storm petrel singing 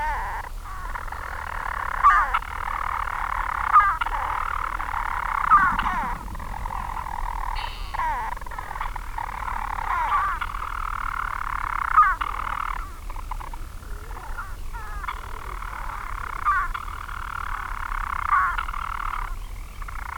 5.2 10.6

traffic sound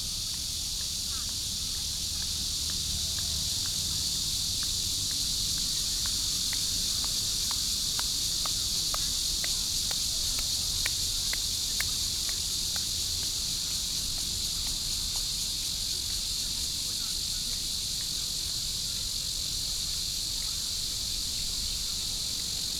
1.8 13.3

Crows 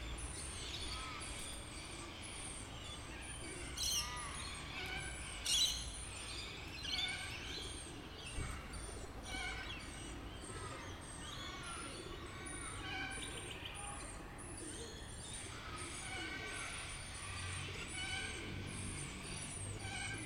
15.4 20.2

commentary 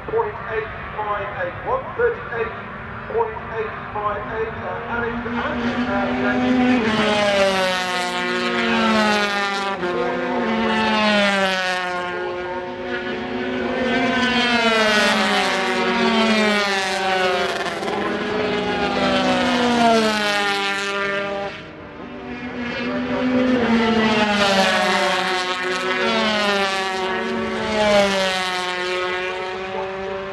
0.0 7.1

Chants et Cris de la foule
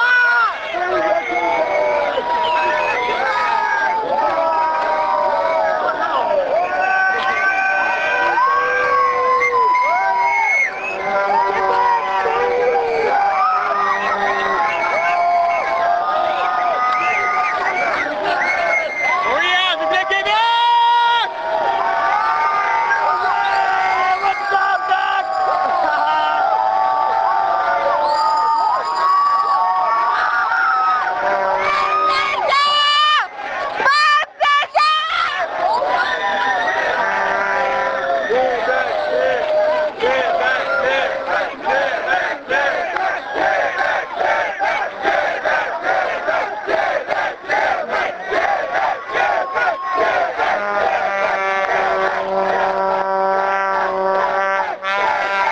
31.1 55.5

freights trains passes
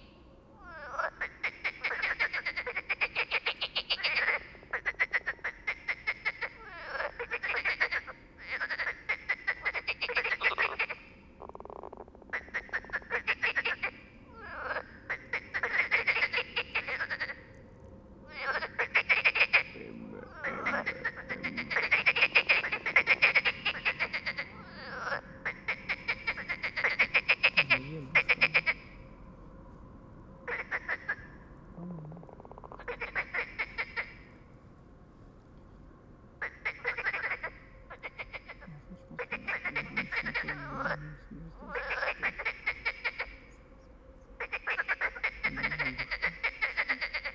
14.6 31.8

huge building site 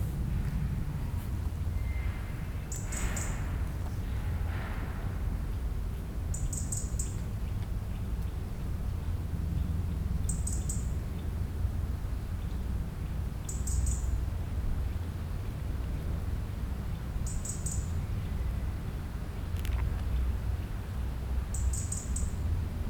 0.0 10.0

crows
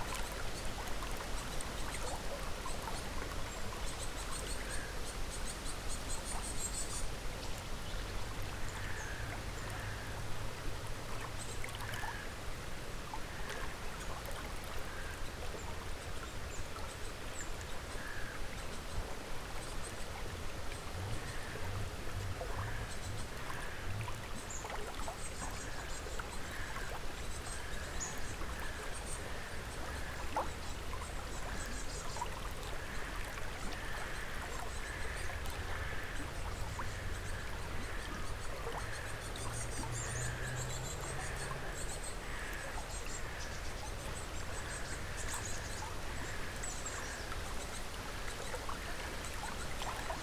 42.2 43.5

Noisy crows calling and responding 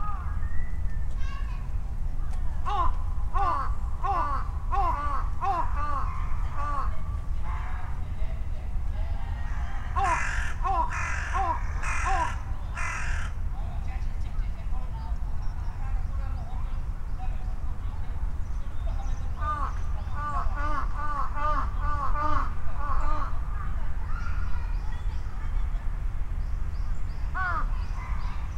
2.6 7.0, 9.3 13.5, 19.3 24.8, 27.2 28.3

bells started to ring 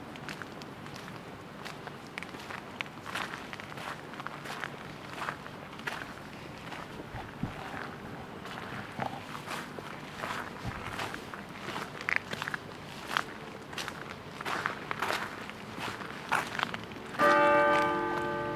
17.2 18.5

